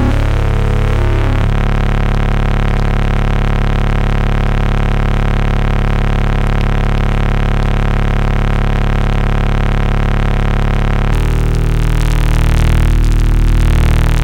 modular synth sounds 0.0 - 2.1
modular synth sounds 11.2 - 14.2

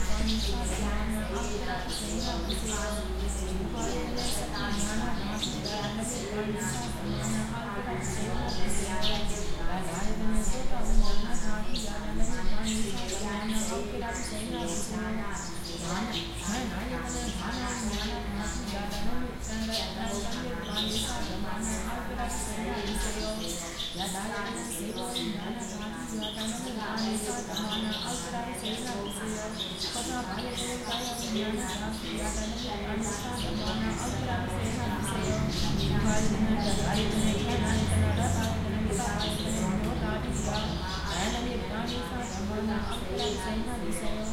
birds 0.0 - 44.3
chanting 0.0 - 44.3

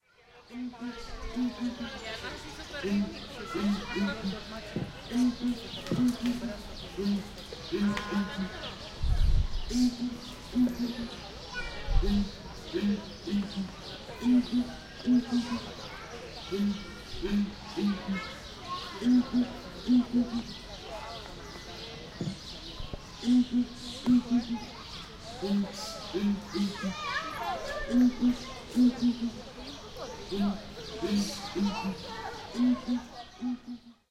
Song of two males of Southern Ground Hornbill 2.8 - 8.9
Song of two males of Southern Ground Hornbill 9.6 - 11.2
Song of two males of Southern Ground Hornbill 12.0 - 15.8
Song of two males of Southern Ground Hornbill 19.0 - 20.7
Song of two males of Southern Ground Hornbill 23.2 - 24.8
Song of two males of Southern Ground Hornbill 27.7 - 34.1

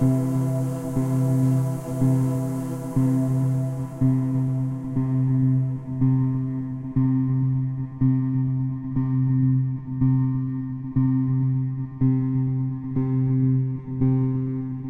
choirs 0.0 - 6.9

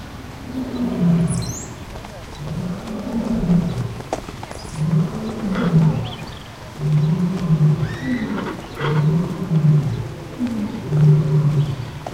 birds 0.0 - 12.1
people walking by 0.0 - 12.1
Lions roaring 0.4 - 12.1

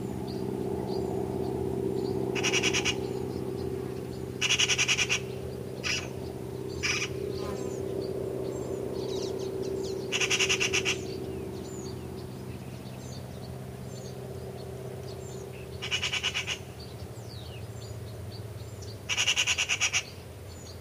airplane fades in 0.0 - 19.2
bird chirps 0.2 - 20.8
Magpie starts calling 2.4 - 3.0
Magpie starts calling 4.4 - 5.2
Magpie starts calling 15.8 - 16.6
Magpie starts calling 19.1 - 20.1

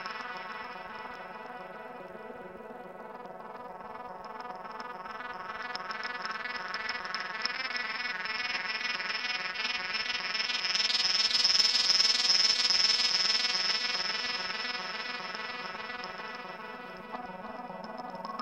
sparkling synth-loop 15.8 - 18.4

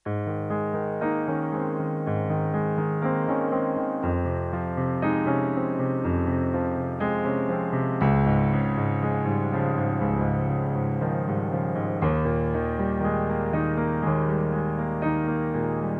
piano-loop with chord-progression 0.0 - 15.9

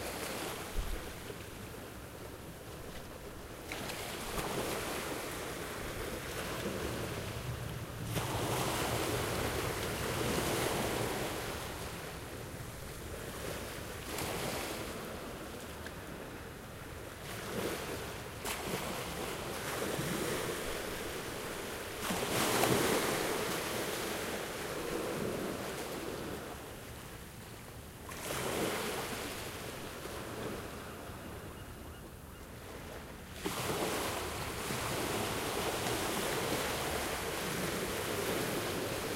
gentle waves 0.0 - 39.1

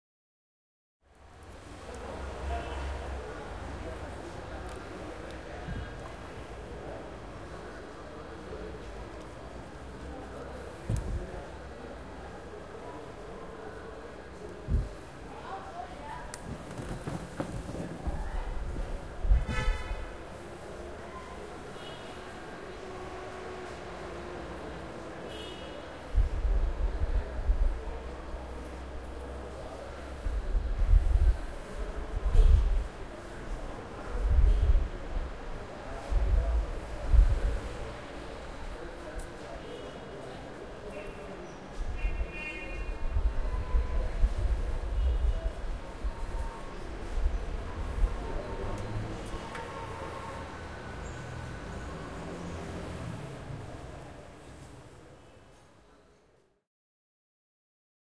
Wind 1.0 - 56.6
Traffic 1.0 - 56.1
Pedestrians 1.0 - 56.3

